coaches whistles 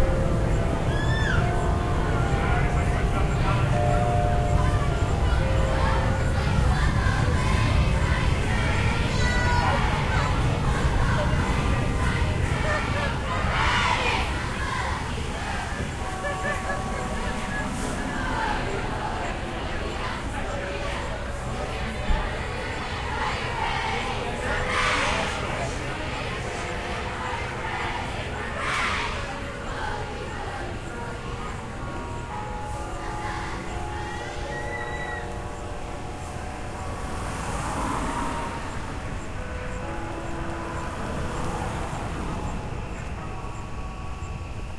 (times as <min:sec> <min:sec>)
0:34.2 0:35.4